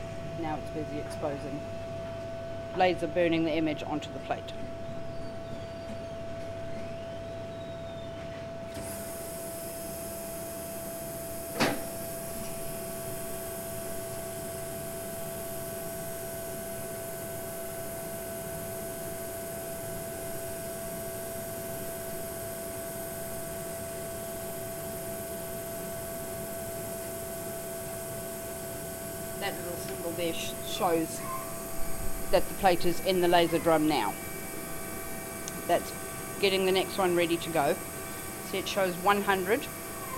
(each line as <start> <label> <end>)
8.7 lasers inside the machine burning the impressions 40.1